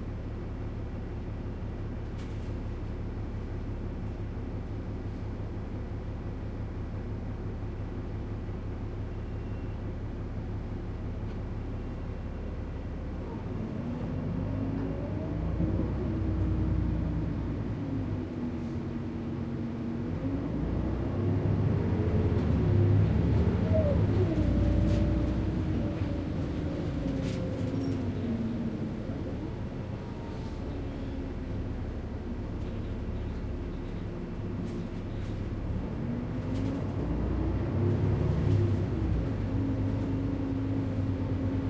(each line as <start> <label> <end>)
0.0 Bumpy bus ride 41.6
0.0 traffic 41.6
22.2 passengers 41.6